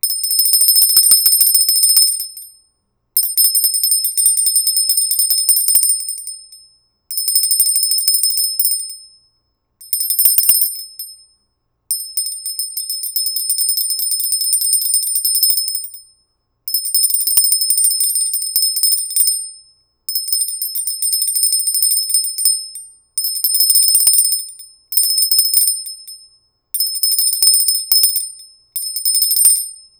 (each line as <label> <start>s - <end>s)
small metal 'Philidelphia' handbell ringing 9.8s - 11.3s
small metal 'Philidelphia' handbell ringing 11.9s - 16.1s
small metal 'Philidelphia' handbell ringing 16.7s - 29.9s